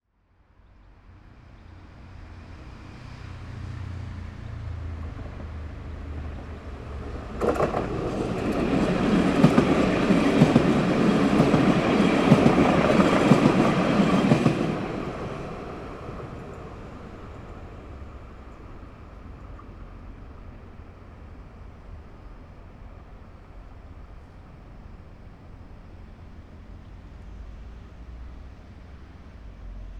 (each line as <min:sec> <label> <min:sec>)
0:00.2 traffic from the surrounding city 0:29.9
0:00.9 Tram passing by 0:29.9